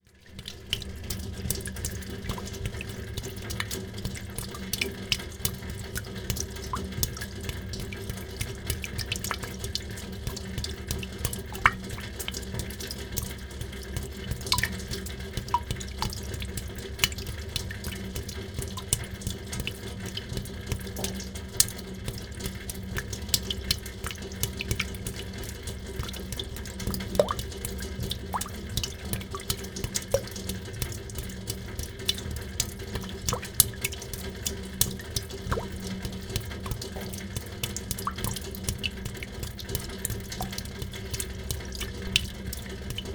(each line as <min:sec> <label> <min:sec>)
0:00.0 rain, inside of the temporary fontain 0:43.1